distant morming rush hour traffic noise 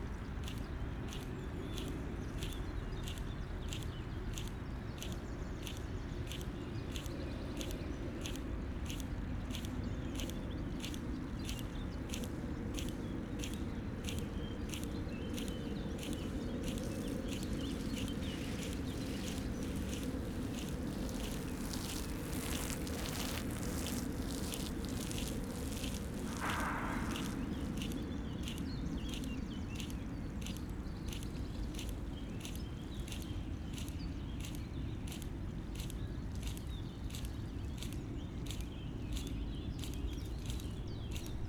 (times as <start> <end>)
14.6 33.2